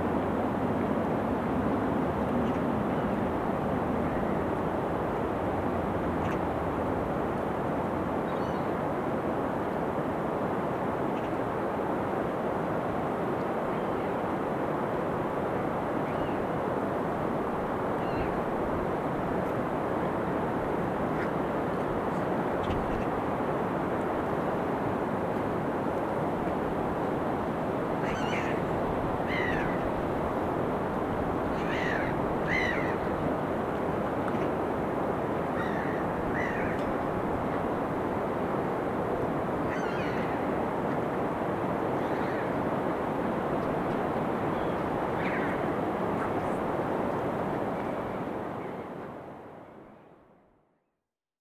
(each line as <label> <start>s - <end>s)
distant birds 28.0s - 30.2s
distant birds 31.4s - 33.4s
distant birds 35.4s - 37.8s
distant birds 39.6s - 41.1s